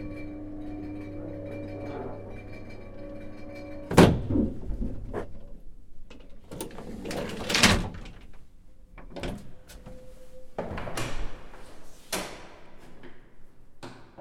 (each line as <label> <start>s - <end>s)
Elevator Sound up 0.0s - 5.7s
Elevator Sound up 9.1s - 11.8s